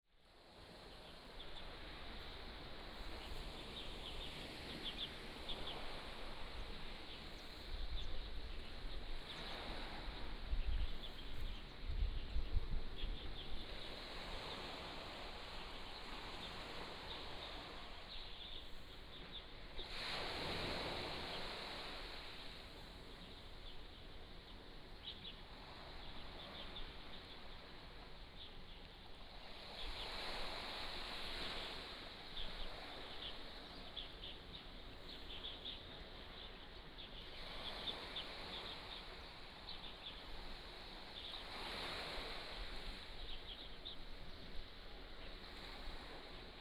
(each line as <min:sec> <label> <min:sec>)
0:00.2 waves 0:46.6